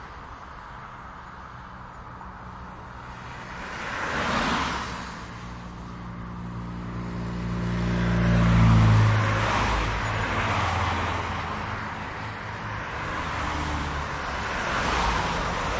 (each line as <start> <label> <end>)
0.0 traffic highway medium speed vehicle pass bys 15.7